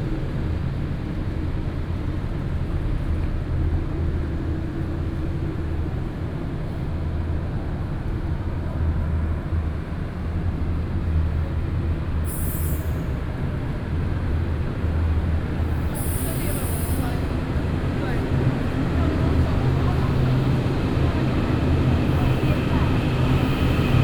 0.0s Walking at the station 24.0s

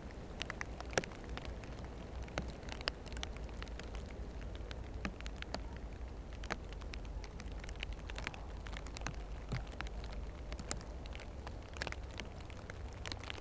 0.0s rain under the leaves 13.4s

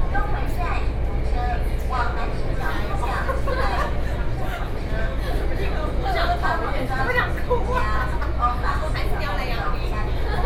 0.0s in the MRT train 10.4s

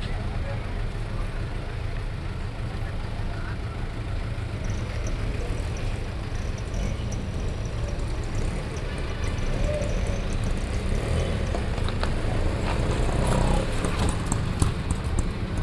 0.0s bus 15.6s
0.0s rickshaw 15.6s
0.0s road traffic 15.6s

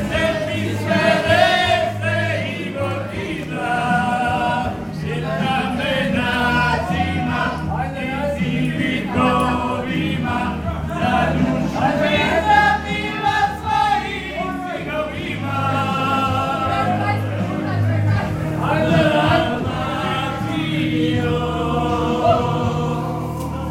0.0s people singing and celebrating 23.7s

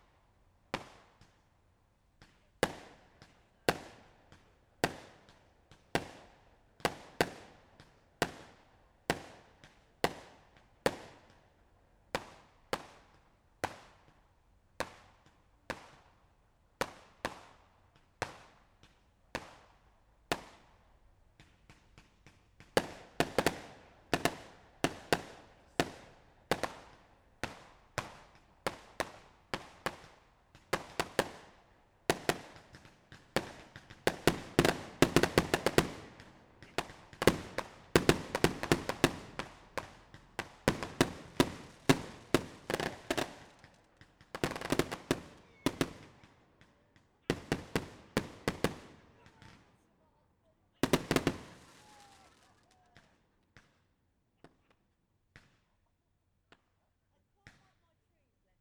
16.8s firework display 49.8s
50.8s firework display 53.8s

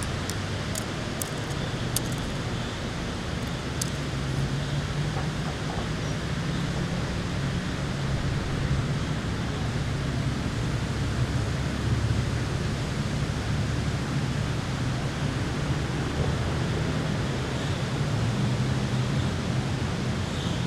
0.0s human activity from the surrounding area 4.6s

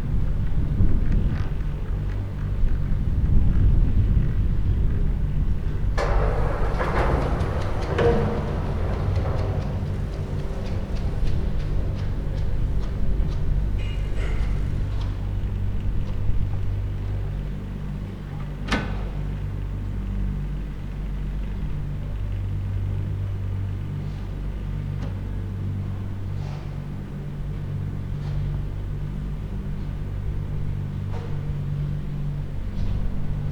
3.8s moving cable cars arriving and departing the station 26.3s
5.6s hum of the machinery and moving cables 16.3s

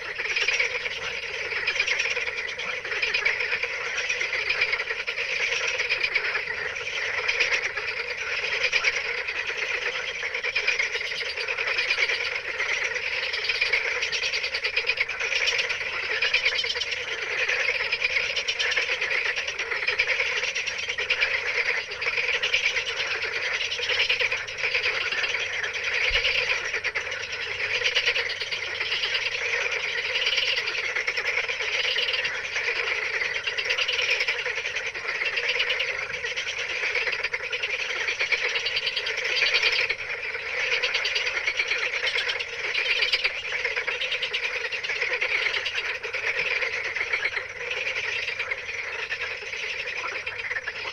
0.0s night frogs in a pond 50.9s

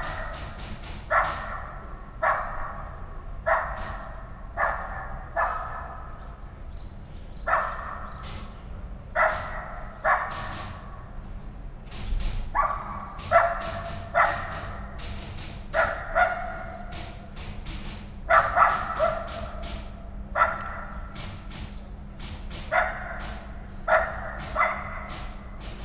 0.0s typewriter 1.8s
0.0s birds 25.8s
9.2s typewriter 11.1s
11.8s typewriter 25.8s

